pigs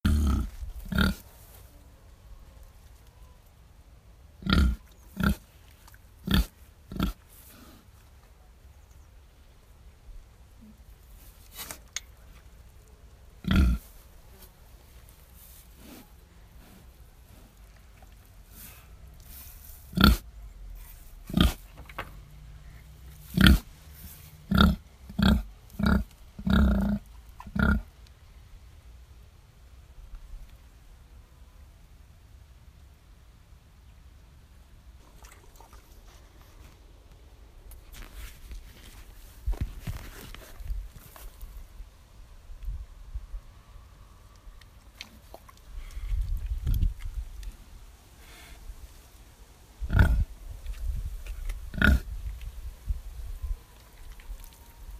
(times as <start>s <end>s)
6.2s 7.9s, 19.9s 20.2s, 49.9s 52.1s